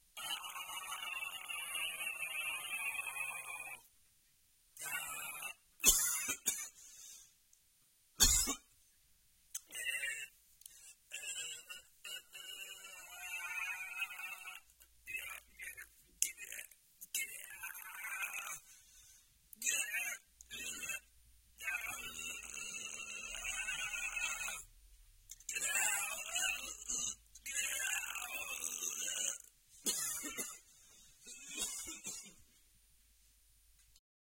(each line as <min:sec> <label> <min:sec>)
0:00.2 grunt 0:03.8
0:04.8 grunt 0:05.6
0:11.1 grunt 0:18.7
0:19.6 grunt 0:24.7
0:25.5 grunt 0:30.5